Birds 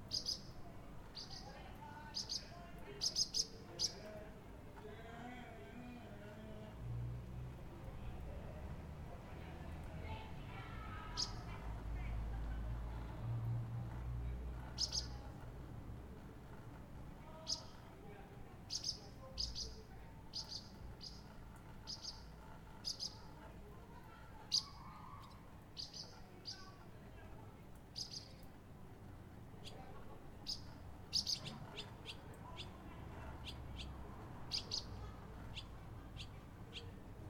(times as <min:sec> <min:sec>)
0:00.0 0:04.2, 0:10.9 0:11.6, 0:14.6 0:15.5, 0:17.3 0:17.9, 0:18.6 0:26.8, 0:27.8 0:28.5, 0:29.6 0:37.2